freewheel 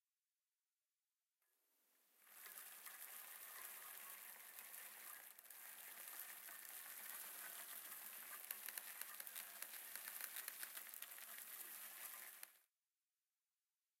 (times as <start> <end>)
2.2 12.6